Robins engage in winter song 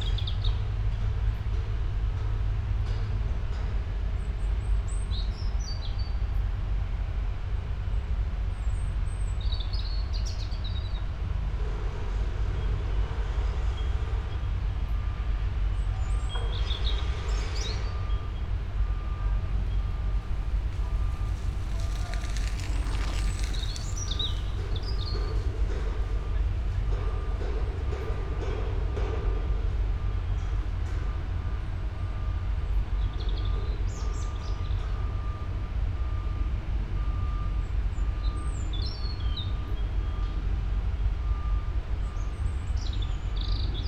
19.6 26.2

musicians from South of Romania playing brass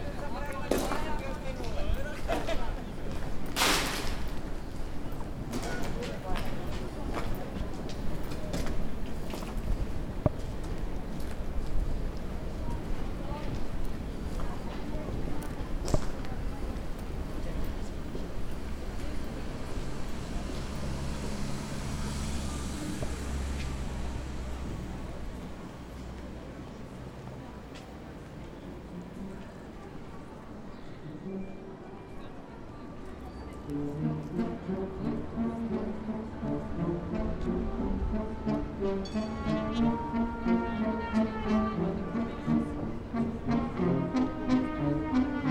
33.6 45.5

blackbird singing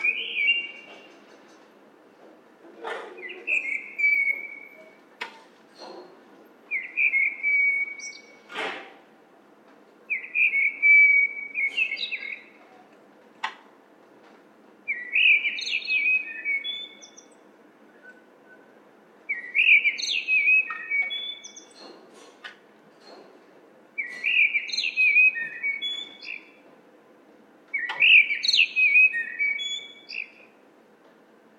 0.0 1.1, 3.1 5.0, 6.7 8.5, 10.1 12.6, 14.9 17.4, 19.3 22.0, 24.0 26.6, 27.7 30.5

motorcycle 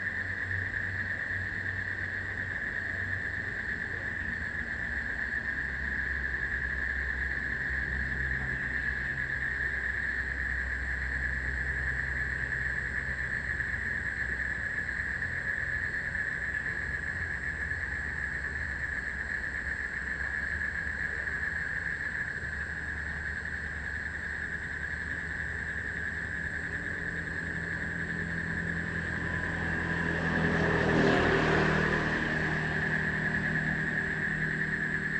23.7 35.1

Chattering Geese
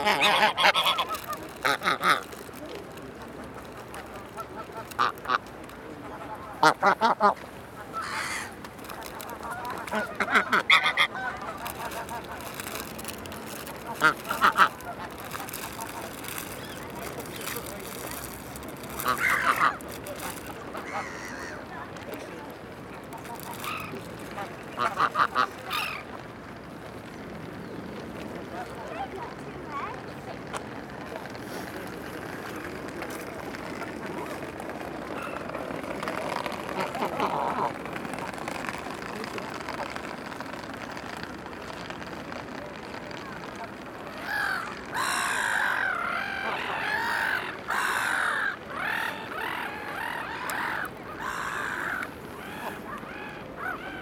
0.0 2.4, 3.2 21.7, 23.2 26.1, 44.1 54.0

